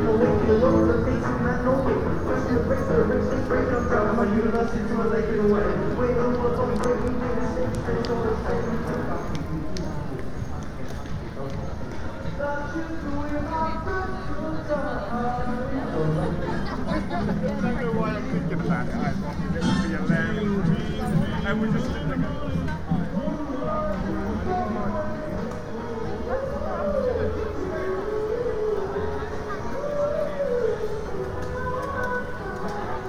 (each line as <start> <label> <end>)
0.0 buskers 33.0
0.0 small PAs on pop-up stalls 33.0
19.6 Salvation Army band 22.1